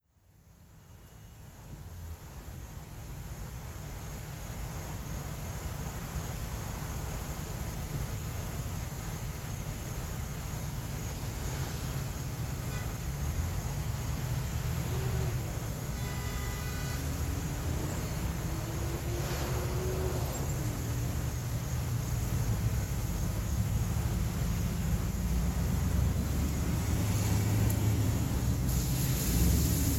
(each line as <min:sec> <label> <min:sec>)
0:00.0 quiet insect noise 0:29.9
0:00.4 rain 0:29.9
0:10.9 Cars 0:29.9
0:11.3 trucks moving 0:29.9
0:12.6 horns honking 0:13.0
0:14.8 horns honking 0:18.0